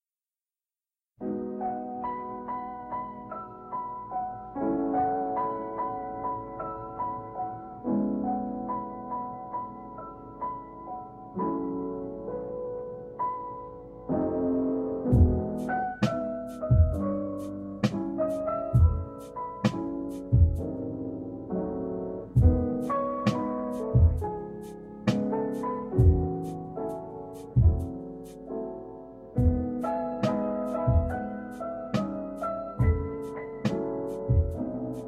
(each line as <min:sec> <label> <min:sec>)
0:14.2 jazz hop 0:35.0